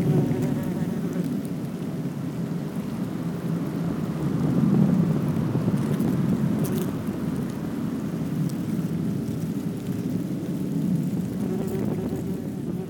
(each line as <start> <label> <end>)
0.0 Wasps' nest 12.8